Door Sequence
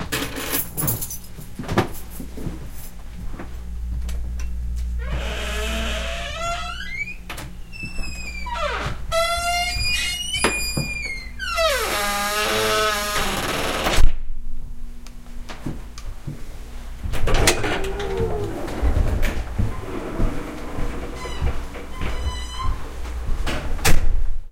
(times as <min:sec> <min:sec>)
0:17.1 0:24.2